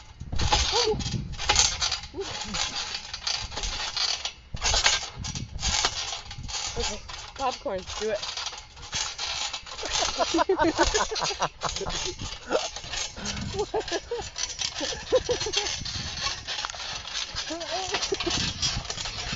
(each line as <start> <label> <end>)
0.0 trampolin 19.3